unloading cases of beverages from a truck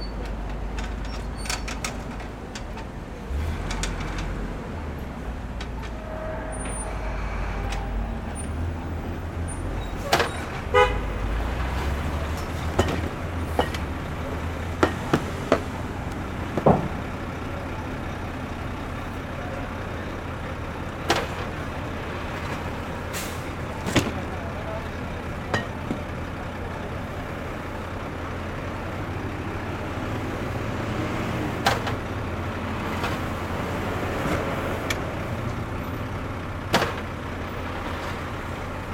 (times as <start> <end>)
9.8 10.9, 12.2 17.1, 22.3 24.4, 31.6 32.1, 32.8 34.7, 36.6 37.3